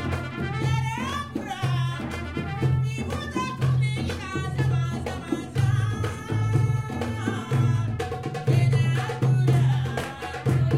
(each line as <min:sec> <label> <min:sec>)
0:00.0 Saudian music 0:10.7